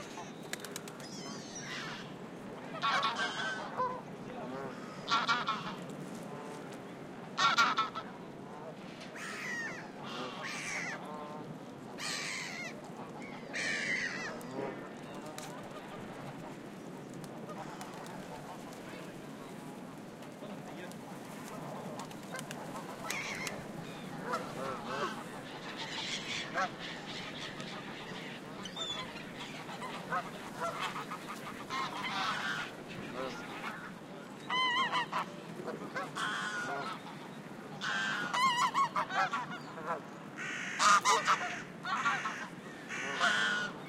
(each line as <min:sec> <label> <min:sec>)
0:00.0 ducks 0:06.8
0:07.4 ducks 0:19.6
0:20.3 ducks 0:43.8